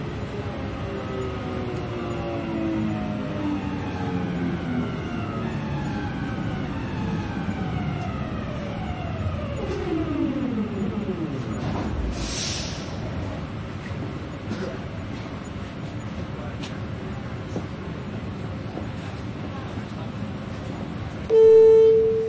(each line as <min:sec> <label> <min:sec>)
0:00.0 subway 0:22.2
0:21.3 announcement 0:22.2
0:21.3 blong 0:22.2
0:21.3 signal 0:22.2